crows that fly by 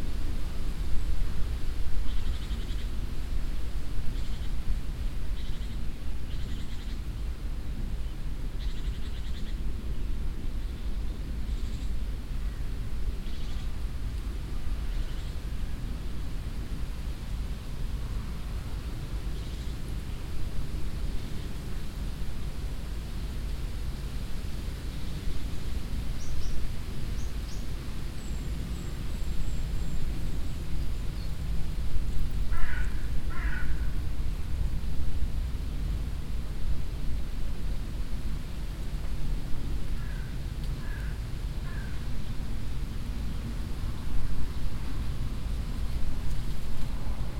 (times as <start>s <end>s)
32.5s 34.0s, 40.0s 42.1s